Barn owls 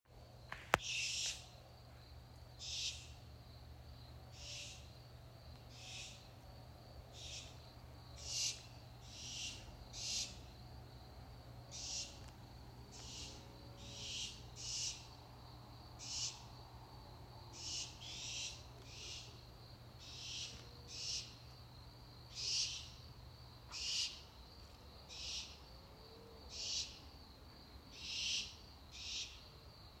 0.5 1.6, 2.6 3.2, 4.3 4.9, 5.7 6.3, 7.1 7.6, 8.2 10.6, 11.7 15.2, 16.0 16.5, 17.5 19.4, 20.0 21.4, 22.3 23.0, 23.7 24.4, 25.1 25.6, 26.5 27.0, 27.9 29.4

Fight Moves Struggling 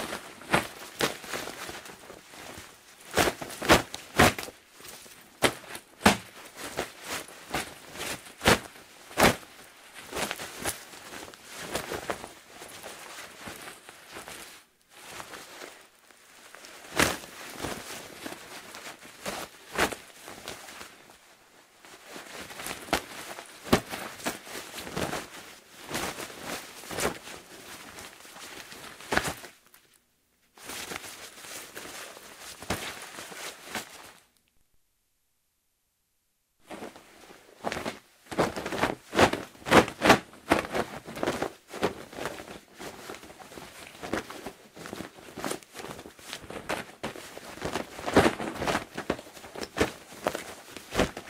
0.1 9.4

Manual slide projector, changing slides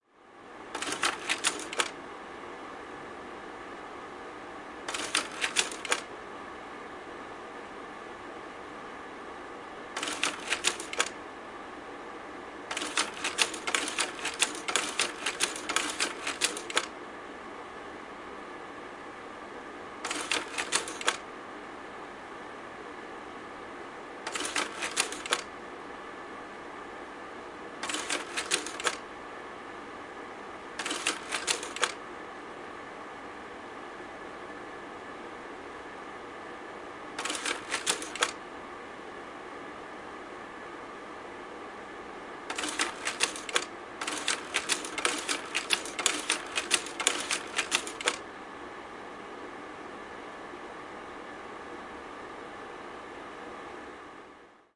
0.7 2.0, 4.9 6.1, 10.0 11.2, 12.7 16.9, 20.0 21.2, 24.3 25.5, 27.8 29.0, 30.8 32.0, 37.2 38.4, 42.5 48.2

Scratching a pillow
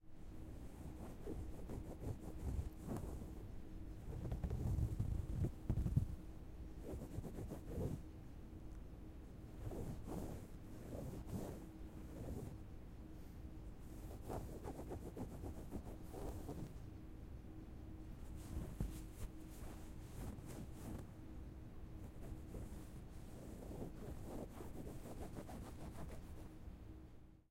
0.4 8.0, 9.4 12.7, 13.8 16.8, 18.2 21.1, 21.9 26.6

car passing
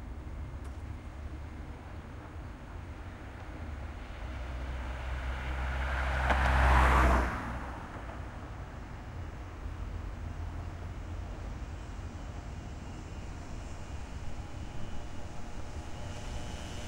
4.0 8.8

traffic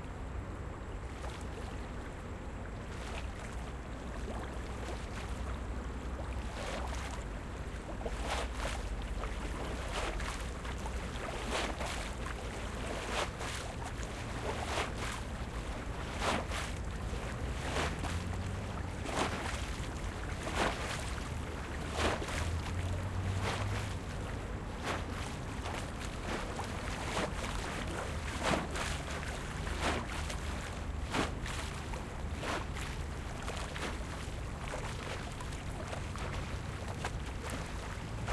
13.8 38.3

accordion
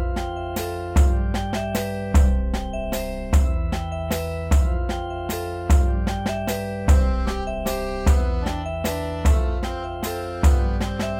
3.4 11.1

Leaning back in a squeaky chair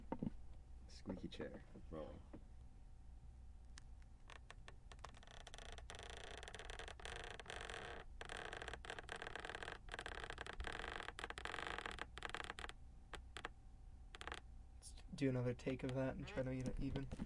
4.3 12.7, 16.1 17.2

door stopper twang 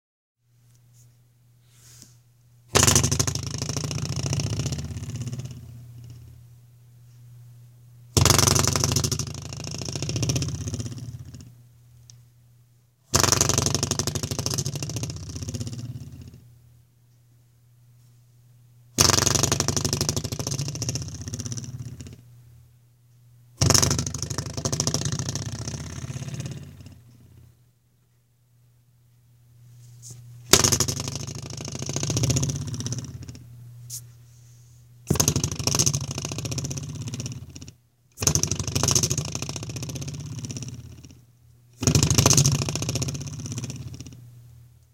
2.7 6.3, 8.1 11.5, 13.1 16.4, 19.0 22.2, 23.6 27.5, 30.5 33.5, 35.1 41.2, 41.8 44.2

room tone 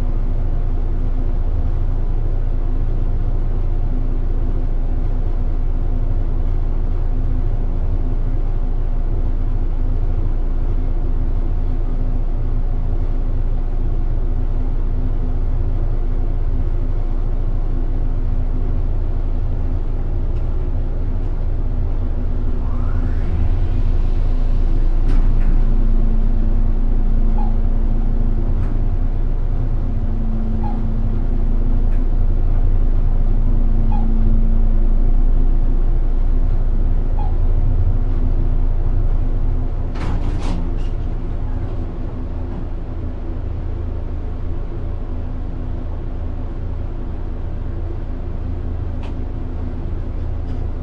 18.8 50.8

